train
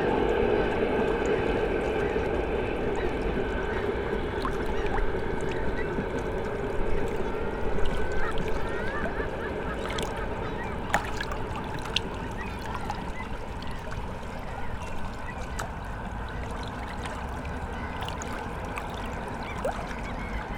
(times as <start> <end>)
0.0 8.1